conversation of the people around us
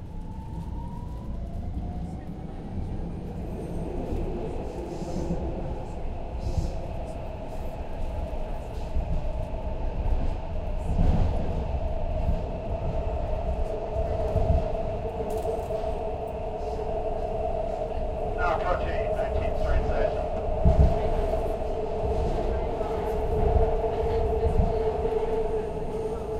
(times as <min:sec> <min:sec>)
0:13.7 0:26.3